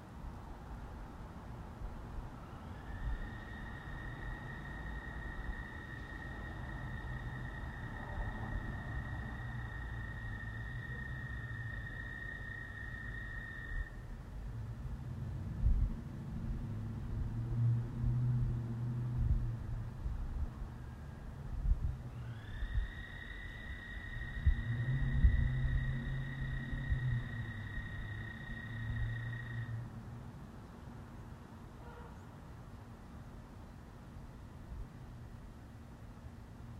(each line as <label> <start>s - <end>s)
smaller quieter chirps 2.4s - 14.1s
smaller quieter chirps 22.1s - 29.8s